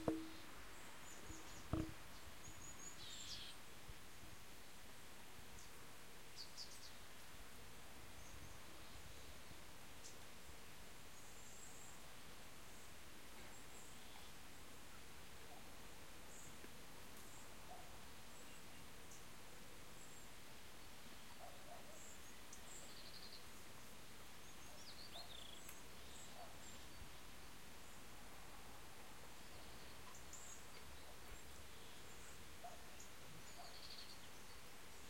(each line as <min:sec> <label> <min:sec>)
0:20.0 birds 0:27.2
0:29.0 birds 0:35.0